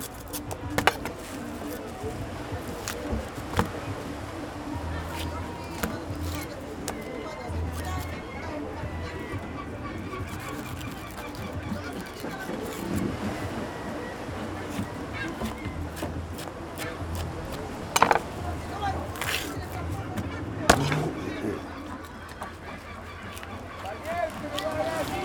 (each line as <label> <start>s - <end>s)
Man cutting and cleaning fishes 0.0s - 25.2s
voices 0.0s - 25.2s
waves 0.0s - 25.2s